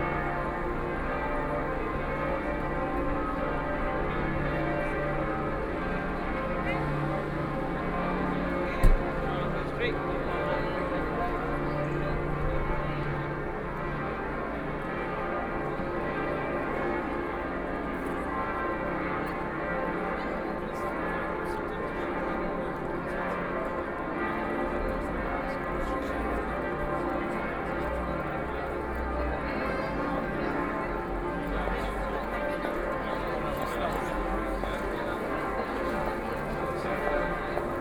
A lot of tourists 0.0 - 37.8
Church bells 0.0 - 37.8

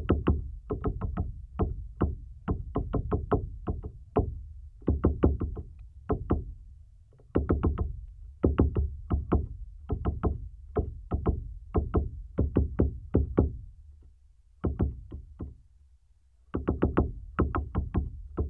woodpecker work session 0.0 - 15.8
woodpecker work session 16.4 - 18.4

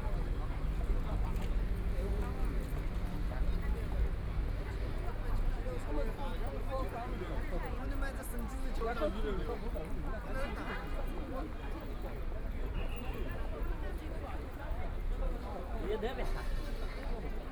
Walking in the street 0.0 - 17.5
moving pedestrians 0.0 - 17.5

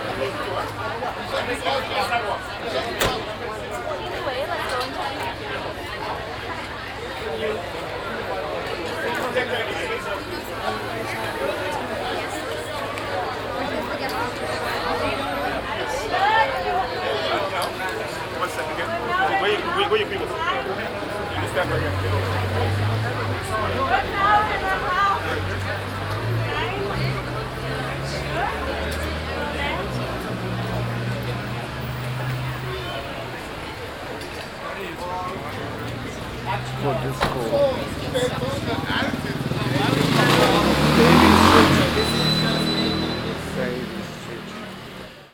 crowd standing in a row in front of a disco 34.0 - 43.8

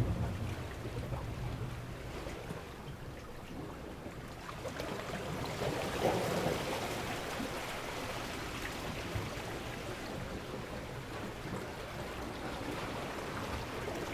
Waves swirl on rocks 0.0 - 14.1

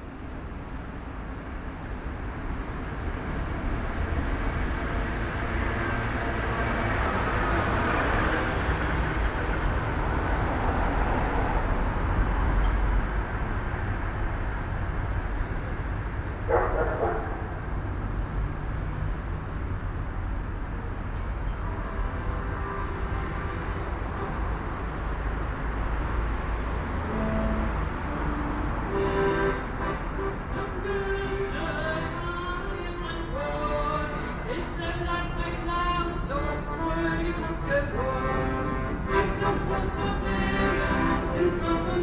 plays accordion 21.6 - 25.2
plays accordion 27.0 - 42.0
sings 30.8 - 42.0

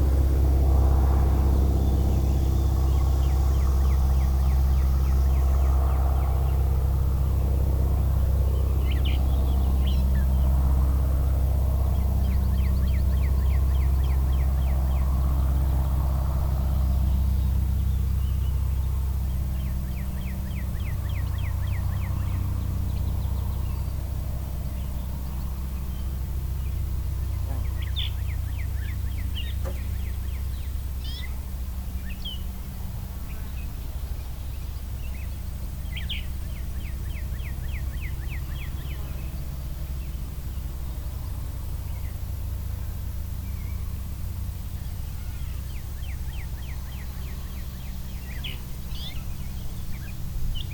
airplane 0.0 - 50.7

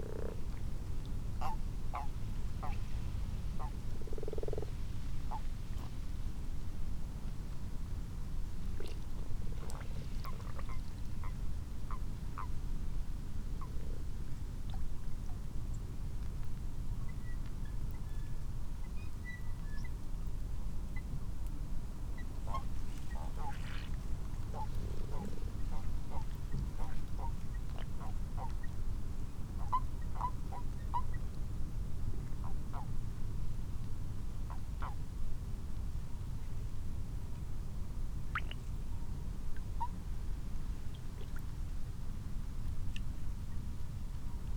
common frogs 0.0 - 0.6
common toads 0.0 - 0.4
common toads 3.6 - 5.4
common frogs 3.6 - 5.9
common frogs 22.5 - 28.7

